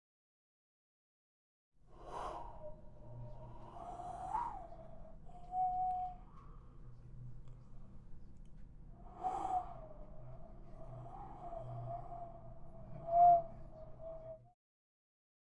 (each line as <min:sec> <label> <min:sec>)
0:01.9 gust of wind 0:05.2
0:09.0 gust of wind 0:14.1